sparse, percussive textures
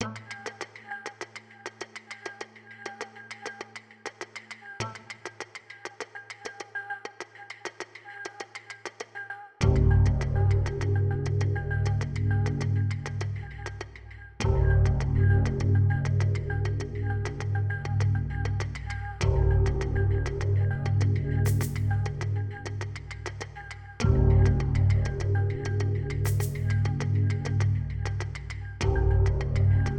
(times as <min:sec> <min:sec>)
0:21.4 0:23.6, 0:26.2 0:28.6